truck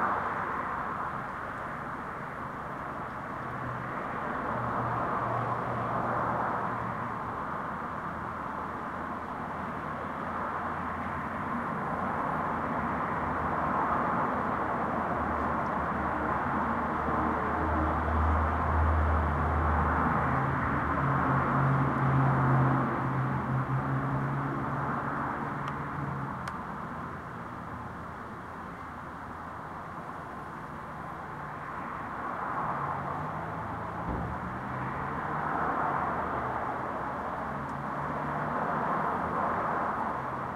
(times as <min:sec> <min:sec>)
0:32.7 0:35.5